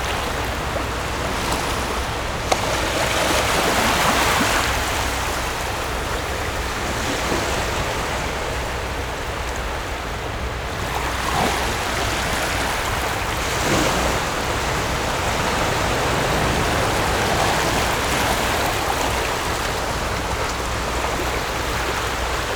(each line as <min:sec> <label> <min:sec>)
0:00.0 waves 0:22.5